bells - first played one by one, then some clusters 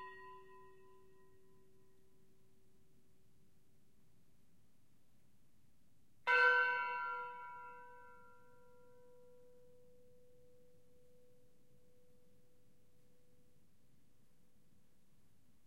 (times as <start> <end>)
6.3 8.2